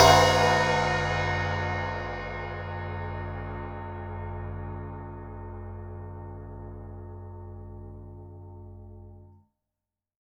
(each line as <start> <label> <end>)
0.0 Crash 3.9